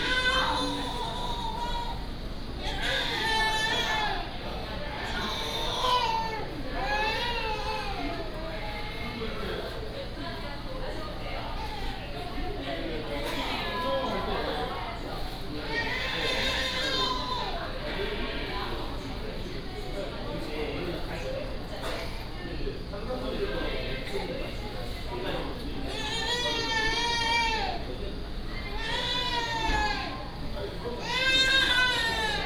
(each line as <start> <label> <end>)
0.0 Crying children 9.3
15.6 Crying children 18.6
25.8 Crying children 27.9
28.5 Crying children 32.4